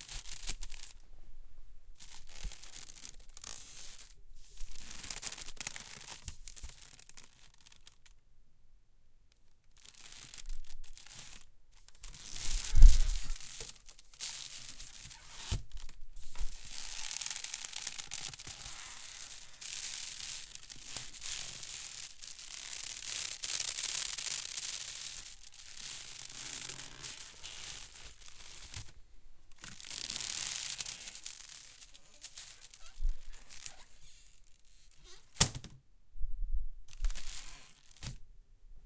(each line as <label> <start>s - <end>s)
wicker basket being opened and closed, and stretched 0.0s - 1.0s
wicker basket being opened and closed, and stretched 2.0s - 8.1s
wicker basket being opened and closed, and stretched 9.7s - 35.8s
wicker basket being opened and closed, and stretched 36.9s - 38.2s